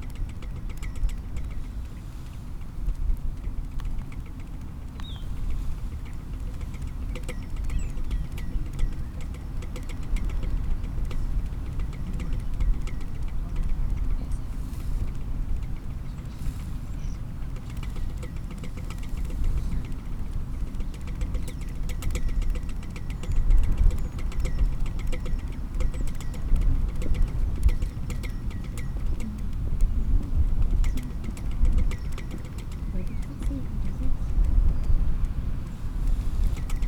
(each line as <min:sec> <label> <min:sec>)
0:00.0 blustery wind 0:36.8
0:05.3 Pinging flagpole 0:35.4
0:11.9 voices 0:14.8
0:29.1 voices 0:29.6
0:32.9 voices 0:34.4